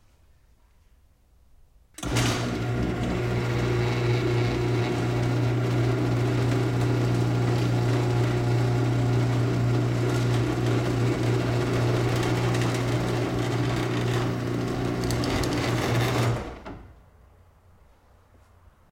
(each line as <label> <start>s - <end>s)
Automatic garage door opening 2.0s - 17.0s